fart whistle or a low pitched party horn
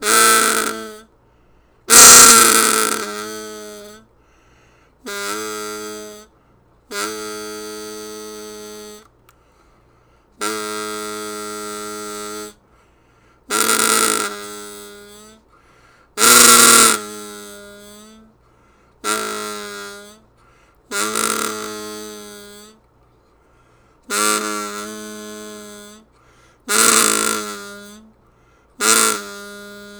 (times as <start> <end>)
0.0 1.1, 1.9 4.0, 5.1 6.3, 6.9 9.1, 10.4 12.6, 13.5 15.4, 16.2 18.3, 19.0 20.2, 20.9 22.8, 24.1 26.1, 26.7 28.1, 28.8 29.9